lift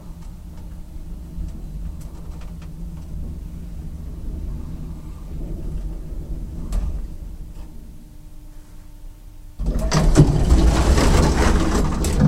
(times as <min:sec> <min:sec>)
0:09.6 0:12.2